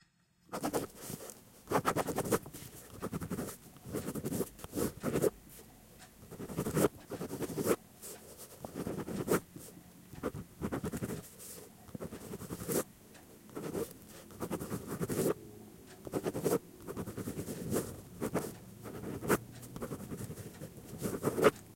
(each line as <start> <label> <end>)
0.5 Writting With Pen 12.9
13.5 Writting With Pen 21.7